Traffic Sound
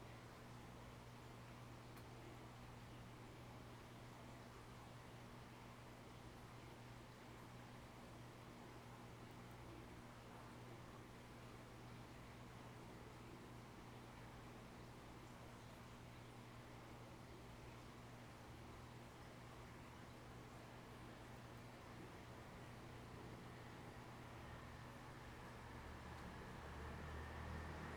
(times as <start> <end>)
25.8 27.9